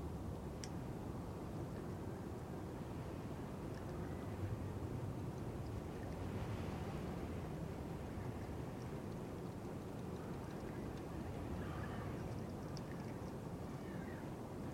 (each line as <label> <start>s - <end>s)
wind-noise 0.0s - 14.7s